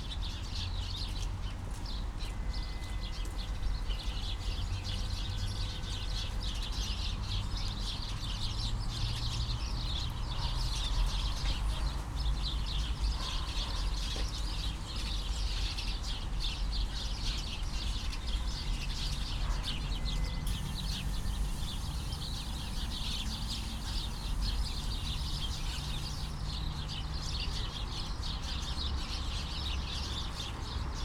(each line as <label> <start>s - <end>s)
city 0.0s - 31.0s
interactive birds 16.6s - 30.8s